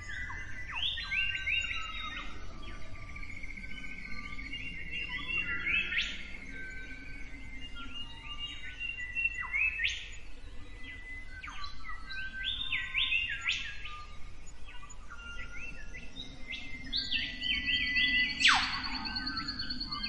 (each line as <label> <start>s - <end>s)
Morning birds 0.0s - 20.0s